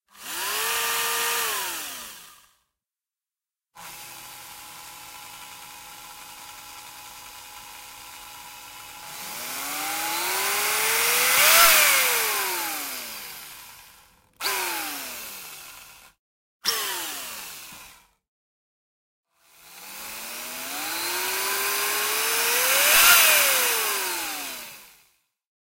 0.0s Futuristic Drill Machine 2.6s
3.8s Futuristic Drill Machine 18.2s
19.4s Futuristic Drill Machine 25.1s

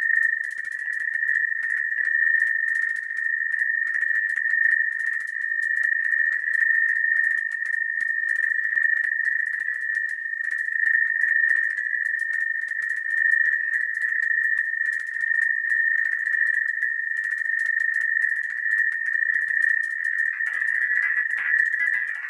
20.1s Glitched Oscillations 22.2s

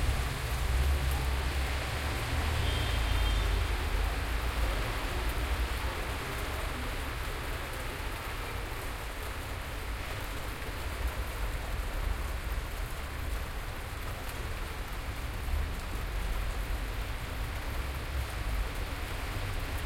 0.0s rain 19.8s

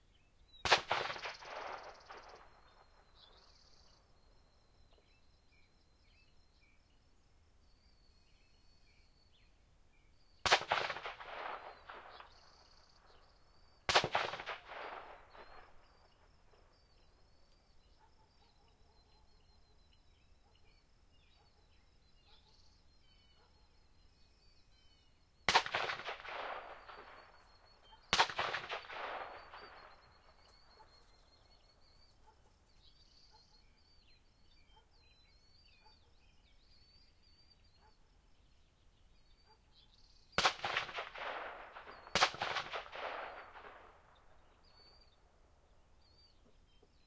0.0s birds 47.0s
0.5s gunshots from a distance with long echo trail 5.1s
10.3s gunshots from a distance with long echo trail 18.4s
24.9s gunshots from a distance with long echo trail 35.7s
40.1s gunshots from a distance with long echo trail 47.0s

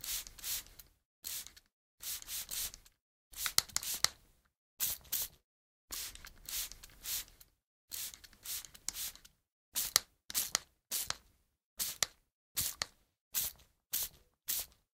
0.0s spray bottle 4.2s
4.8s spray bottle 11.2s
11.8s spray bottle 14.8s

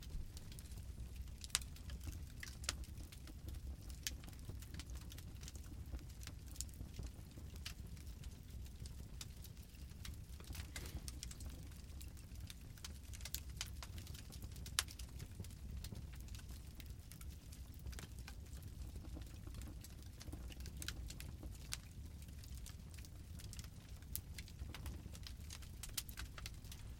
0.0s small crackles and pops 26.9s

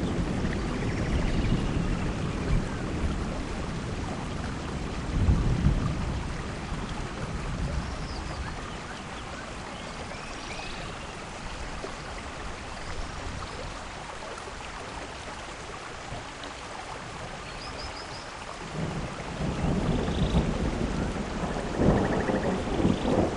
5.2s thunder 6.2s
18.7s thunder 23.3s

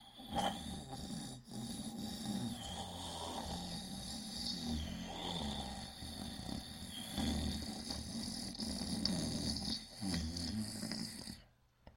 0.0s snoring 11.5s

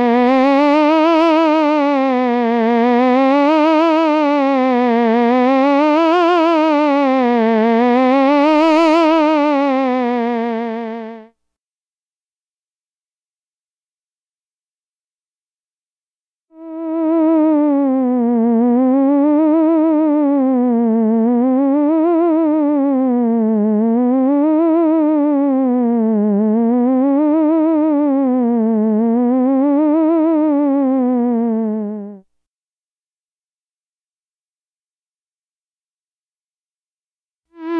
0.0s sci fi theremin 11.2s
16.6s sci fi theremin 32.2s
37.6s sci fi theremin 37.7s

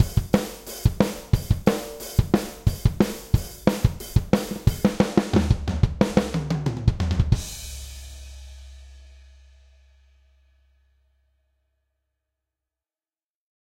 0.0s rock drum fill 9.2s

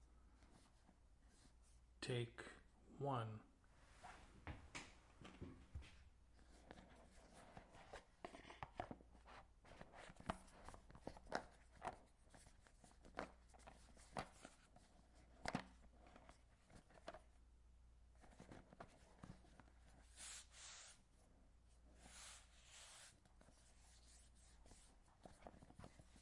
6.5s Small box handling 17.3s

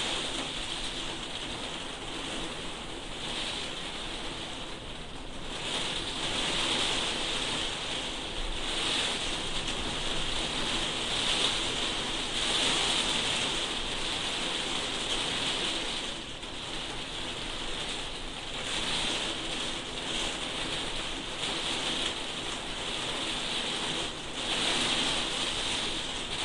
0.0s Heavy Rain On Plastic Roof 26.4s
0.0s occasional light wind howl 26.4s

